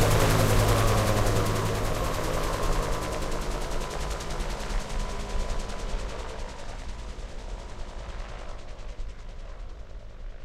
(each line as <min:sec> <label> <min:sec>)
0:00.0 Helicopter landing 0:07.2